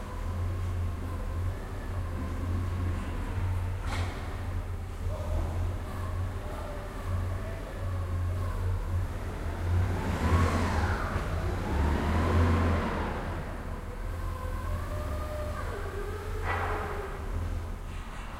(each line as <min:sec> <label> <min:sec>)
0:00.0 forklift 0:18.3